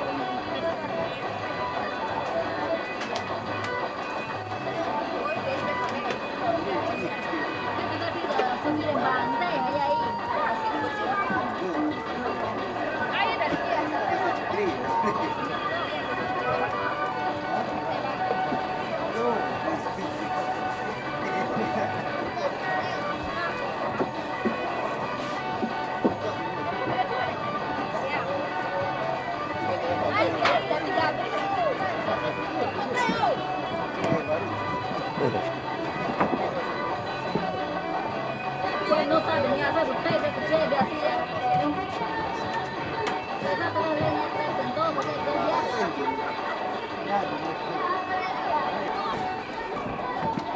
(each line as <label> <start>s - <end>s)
river side market noise 0.0s - 50.5s